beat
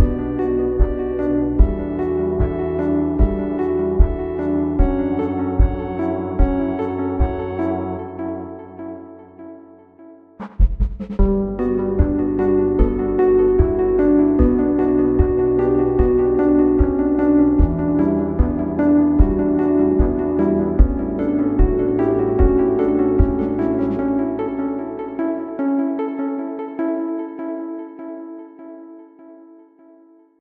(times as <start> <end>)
0.0 7.7, 10.4 25.0